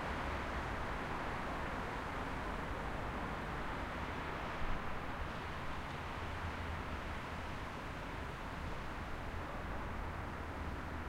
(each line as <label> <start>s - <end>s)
Obstacle in the road making cool noises with traffic 0.0s - 11.0s
traffic 0.0s - 11.0s